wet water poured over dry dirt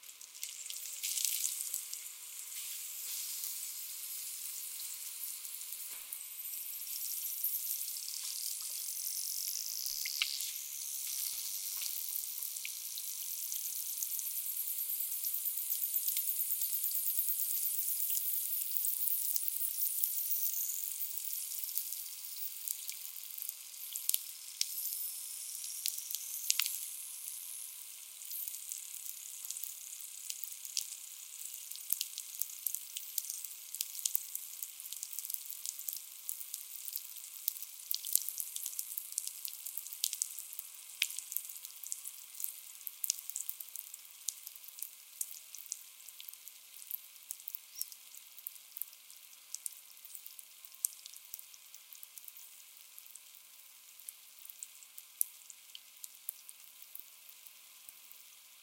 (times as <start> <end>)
0.1 5.9